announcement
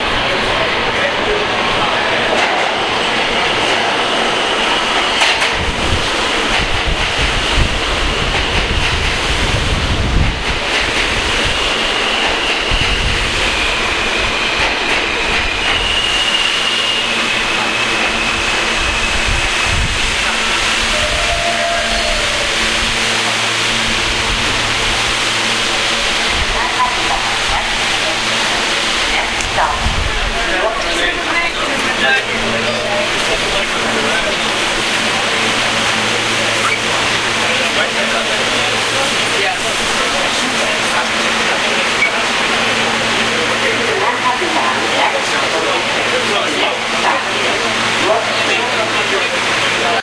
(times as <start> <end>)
20.1 50.0